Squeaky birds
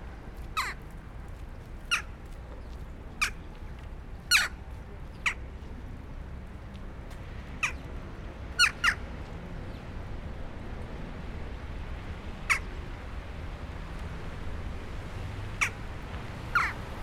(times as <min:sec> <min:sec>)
0:04.3 0:04.6, 0:16.5 0:16.8